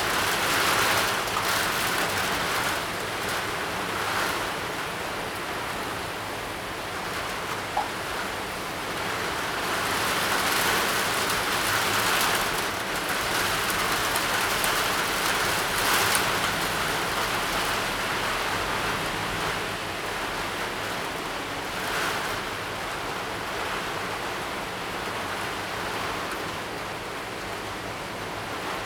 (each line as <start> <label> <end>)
0.0 rain 28.8